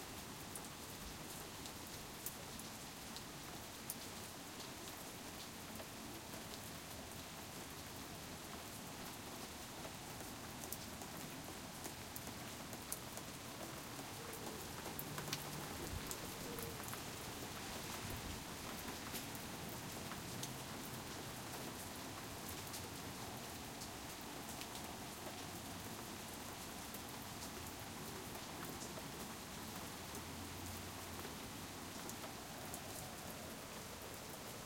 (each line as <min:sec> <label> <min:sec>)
0:00.0 Soft Rain 0:34.6